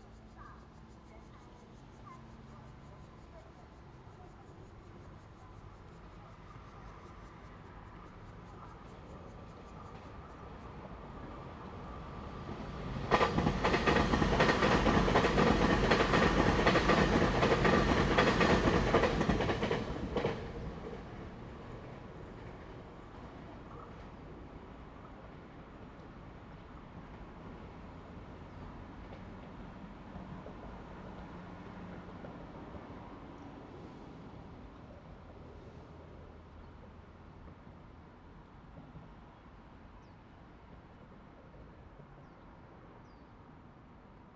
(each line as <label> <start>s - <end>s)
The train runs through 0.0s - 44.3s
wind 0.0s - 44.3s